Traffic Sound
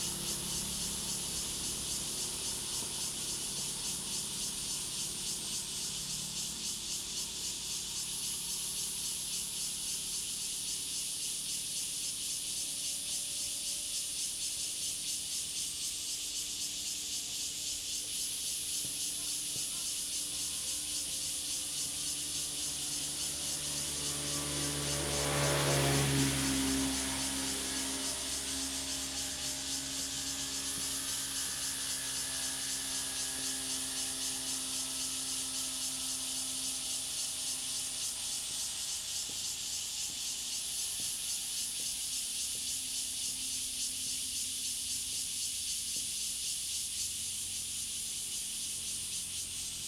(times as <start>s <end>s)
21.8s 42.7s